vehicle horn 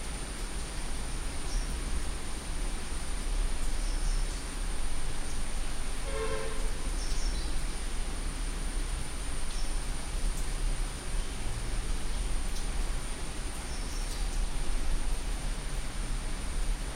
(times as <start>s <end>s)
6.0s 6.9s